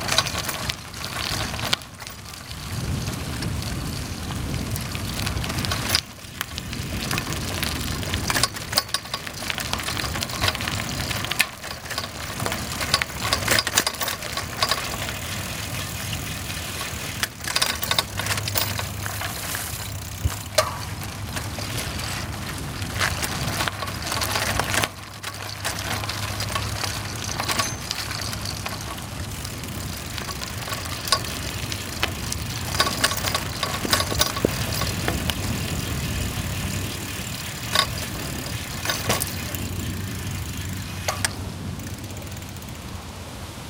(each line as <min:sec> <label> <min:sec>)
0:00.0 Bicycling Onboard Trail 0:43.6